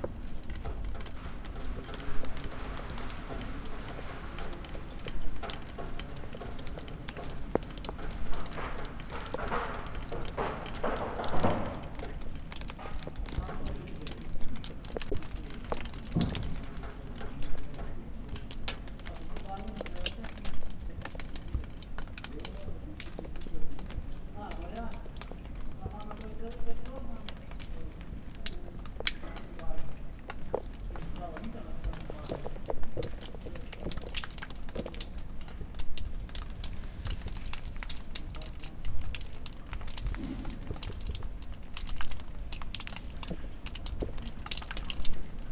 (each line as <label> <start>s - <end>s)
Runner on Castle Stairs 0.0s - 13.7s